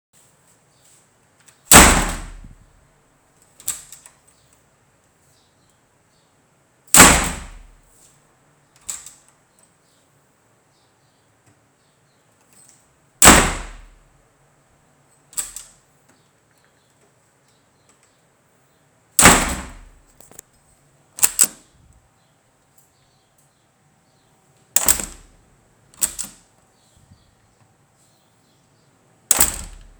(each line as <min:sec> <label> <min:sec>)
0:01.7 hinge 0:02.6
0:01.7 door 0:02.7
0:07.0 door 0:07.8
0:08.8 key 0:09.7
0:13.2 door 0:14.0
0:13.2 hinge 0:14.0
0:15.3 key 0:15.8
0:19.2 door 0:20.4
0:19.2 hinge 0:20.4
0:21.2 key 0:21.6
0:21.2 door 0:21.6
0:21.2 hinge 0:21.6
0:24.8 door 0:25.3
0:24.8 hinge 0:25.3
0:24.8 key 0:25.3
0:25.9 key 0:26.5
0:26.0 door 0:26.4
0:29.3 door 0:29.9
0:29.3 hinge 0:29.9
0:29.3 key 0:29.9